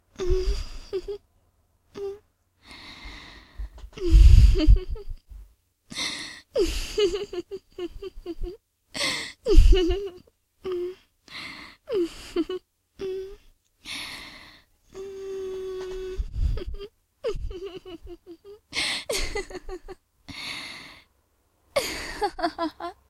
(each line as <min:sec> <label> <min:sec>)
0:17.3 flirtatious laugh 0:20.0
0:21.8 flirtatious laugh 0:23.0